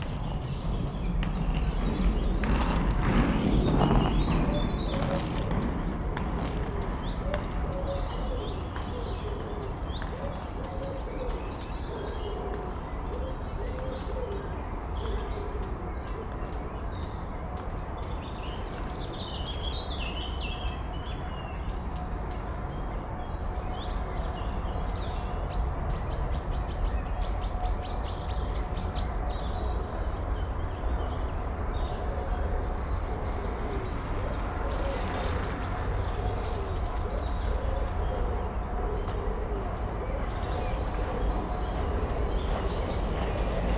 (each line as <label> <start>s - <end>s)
bikes and skaters passing by 0.0s - 43.7s